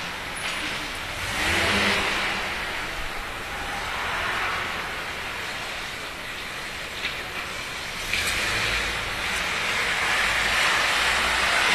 car 0:00.0 - 0:11.7

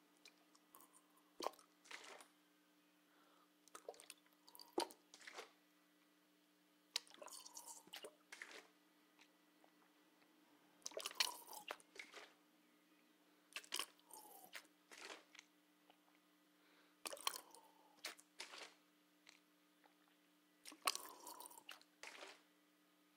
squirting water from a water bottle into their mouth 0:00.2 - 0:02.3
squirting water from a water bottle into their mouth 0:03.7 - 0:05.6
squirting water from a water bottle into their mouth 0:07.0 - 0:09.9
squirting water from a water bottle into their mouth 0:10.8 - 0:12.4
squirting water from a water bottle into their mouth 0:13.6 - 0:16.2
squirting water from a water bottle into their mouth 0:17.0 - 0:22.5

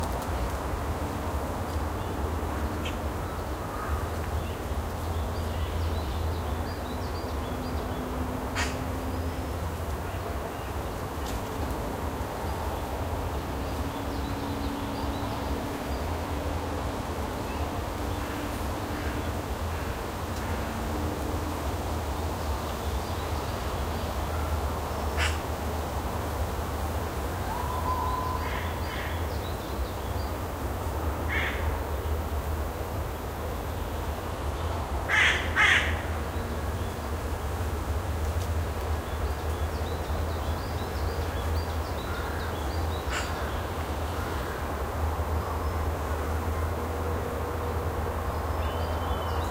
Weak noise of cars from highway 0:00.0 - 0:49.5
Cawing of crows 0:25.2 - 0:25.4
Cawing of crows 0:31.3 - 0:31.7
Cawing of crows 0:35.1 - 0:36.1
Cawing of crows 0:43.1 - 0:43.6

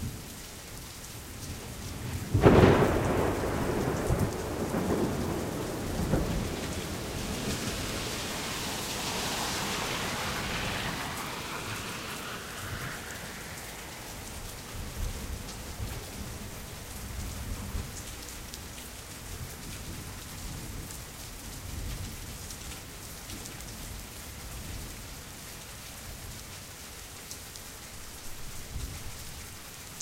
Rain 0:00.0 - 0:30.0
Vehicles traveling on wet pavement 0:00.2 - 0:21.4
thunder 0:02.1 - 0:16.1

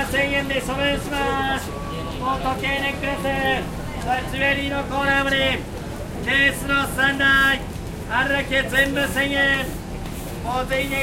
Watch seller in japanese 0:00.0 - 0:11.0
people walking and talking 0:00.0 - 0:11.0

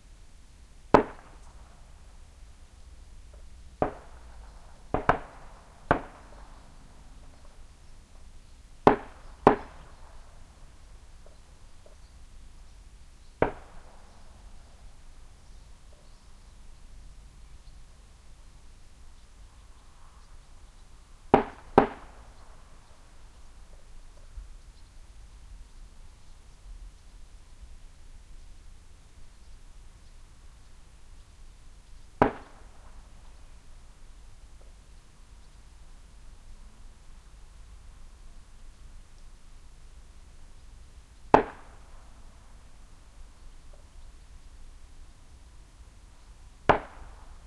Gunfire in the distance 0:00.9 - 0:01.7
birds 0:00.9 - 0:27.6
Gunfire in the distance 0:03.8 - 0:06.6
Gunfire in the distance 0:08.8 - 0:10.1
Gunfire in the distance 0:13.4 - 0:14.1
Gunfire in the distance 0:21.3 - 0:22.2
birds 0:28.3 - 0:47.4
Gunfire in the distance 0:32.2 - 0:32.9
Gunfire in the distance 0:41.3 - 0:41.9
Gunfire in the distance 0:46.7 - 0:47.2

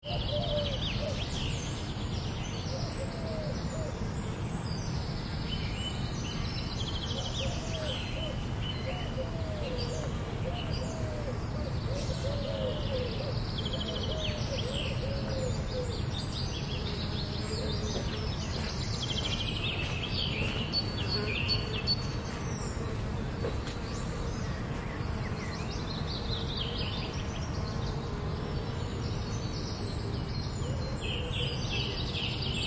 birds 0:00.0 - 0:32.6
bees 0:16.6 - 0:32.6

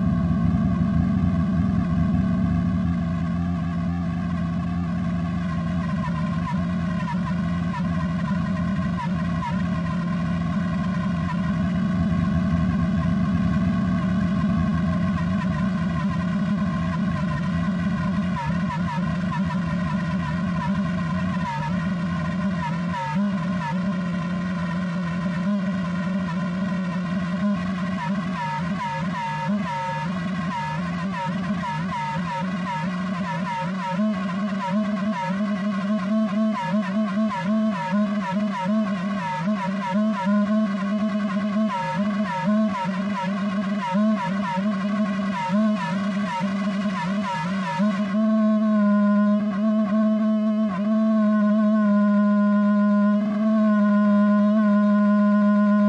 feedback loop 0:00.0 - 0:55.8

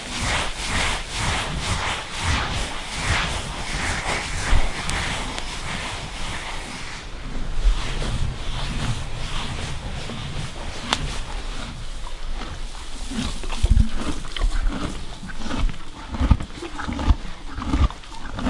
Horse being brushed from close 0:00.0 - 0:18.4
chewing 0:10.7 - 0:18.4

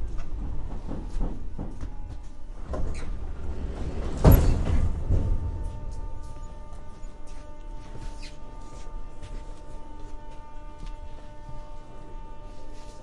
doors 0:00.0 - 0:09.6
subway ride 0:00.0 - 0:13.0

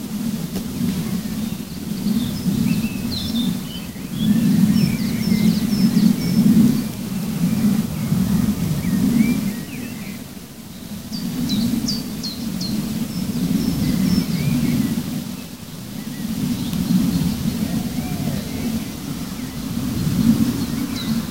birds 0:00.0 - 0:21.3

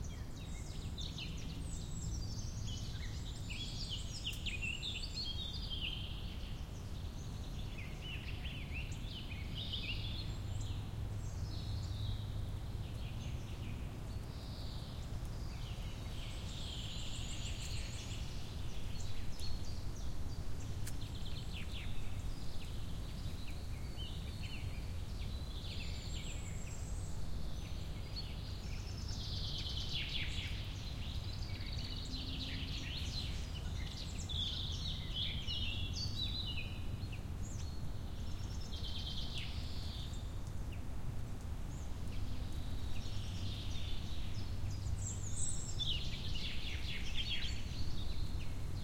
birds 0:00.0 - 0:48.8
wind 0:00.0 - 0:48.8

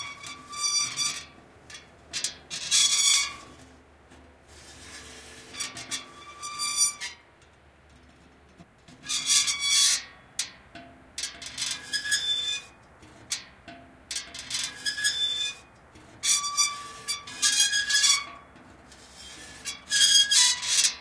Metal, rusty weathervane turning 0:00.0 - 0:21.0

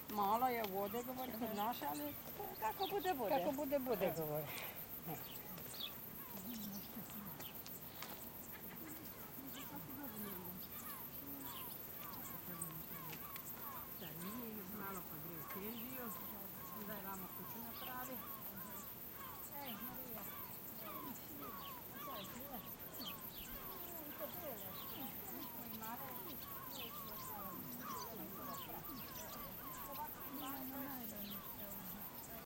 constant crickets 0:00.0 - 0:32.4
old ladies talking to each other 0:00.0 - 0:32.4

